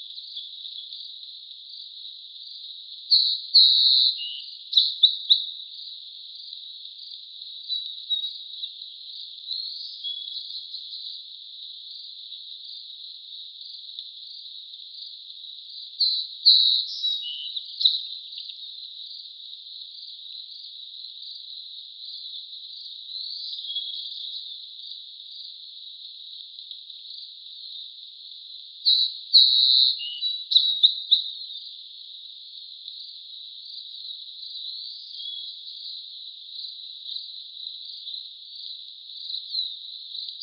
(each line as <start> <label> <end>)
0.0 birds 40.4
0.0 insects 40.4